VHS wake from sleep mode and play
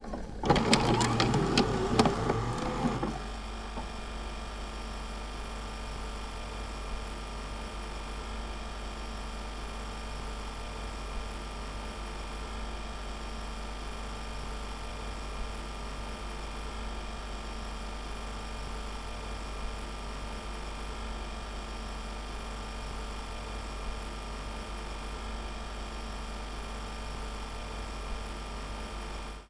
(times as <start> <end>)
0.0 3.9